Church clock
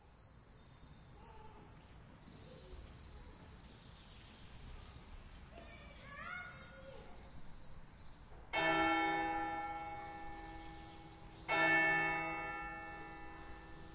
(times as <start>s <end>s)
8.5s 13.9s